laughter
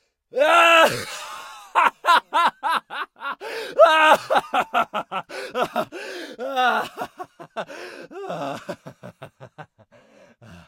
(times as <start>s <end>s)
1.5s 3.4s, 4.2s 5.9s, 6.7s 7.7s, 8.4s 9.9s